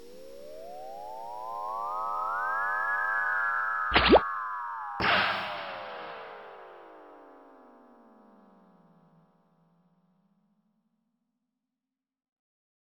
3.9s reverberating laser 4.2s
3.9s rising reverberant synth tone 4.2s
5.0s reverberating laser 7.0s
5.0s rising reverberant synth tone 7.2s

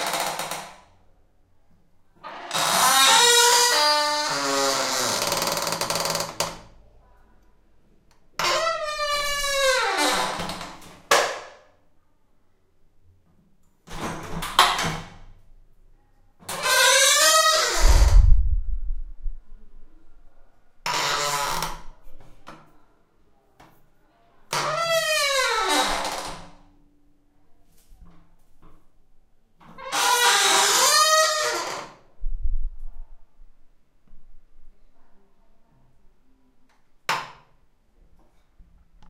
2.3s Heavy door squeak 6.5s
8.4s Heavy door squeak 10.8s
16.5s Heavy door squeak 18.3s
29.8s Heavy door squeak 31.9s

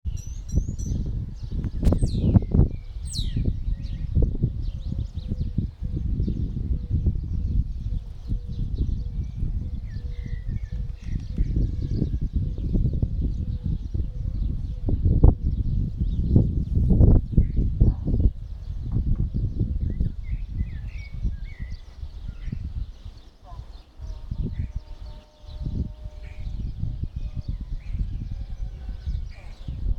0.1s Birds 29.9s

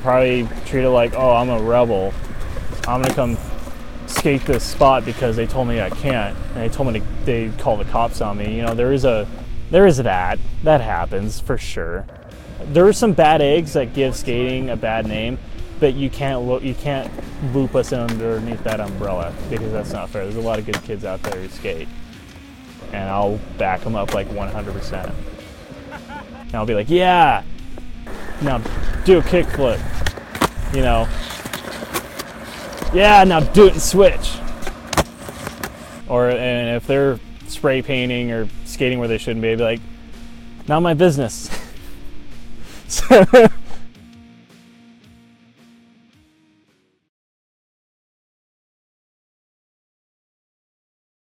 0.0s skateboarding 9.5s
12.1s skateboarding 26.4s
28.1s skateboarding 36.0s

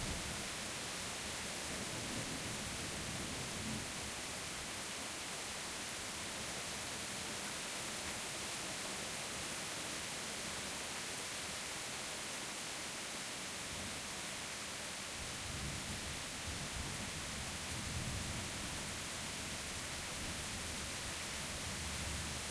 0.0s Rain starts about half way in 22.5s

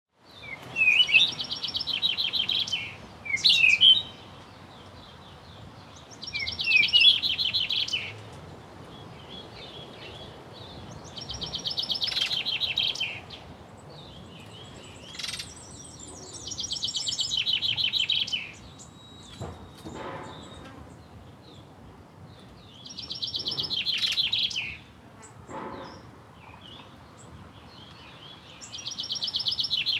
0.1s Birds sing in a tree 29.9s

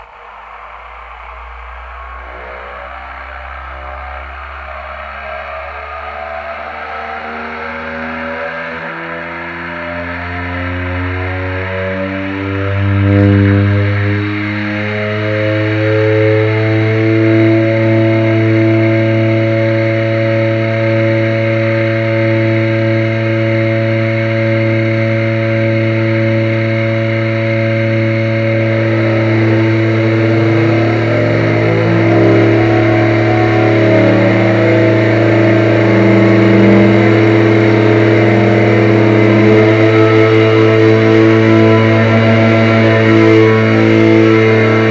0.0s Small two-engine airplane is tuning the engines 44.9s

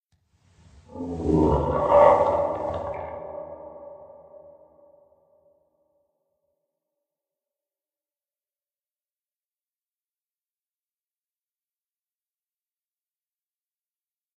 0.9s 'Monster' noises 4.9s

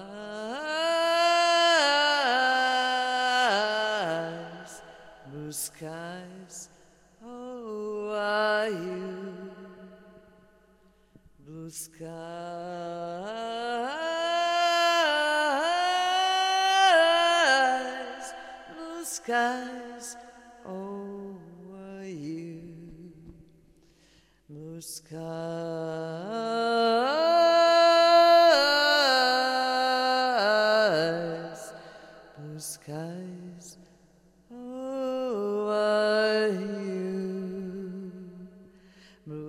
0.0s singing 10.3s
11.4s singing 23.3s

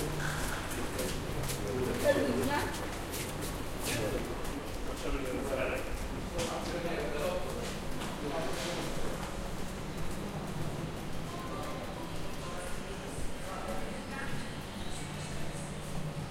7.0s drone of trains 16.3s

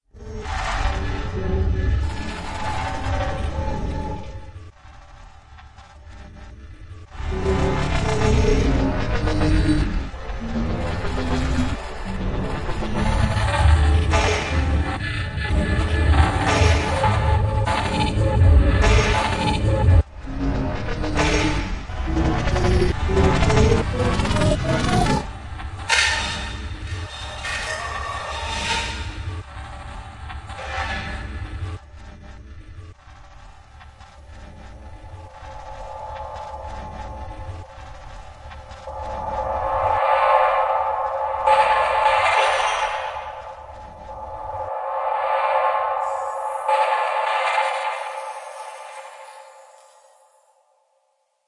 34.0s metallic like sounds 50.4s

